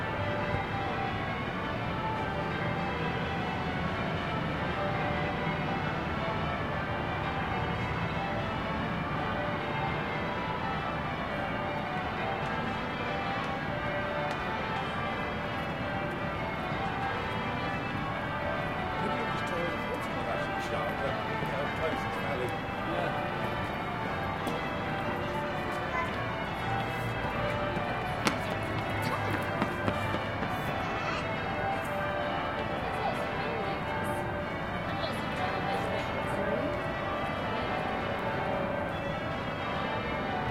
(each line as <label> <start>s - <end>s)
Chapel bells 0.0s - 40.5s